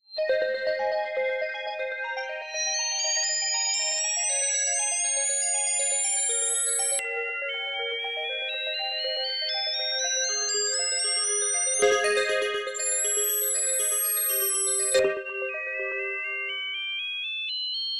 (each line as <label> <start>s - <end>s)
arpeggio 11.8s - 16.6s